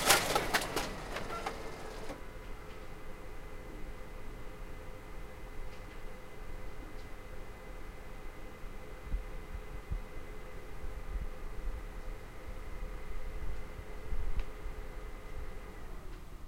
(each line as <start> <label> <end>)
0.0 Printer, Distant 3.6